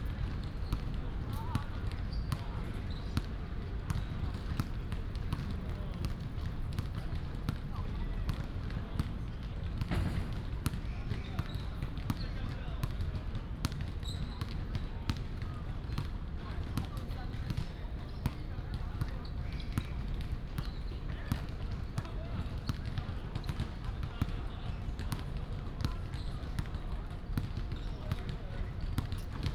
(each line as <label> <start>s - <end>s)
Basketball sounds 0.0s - 7.8s
Basketball sounds 17.4s - 22.1s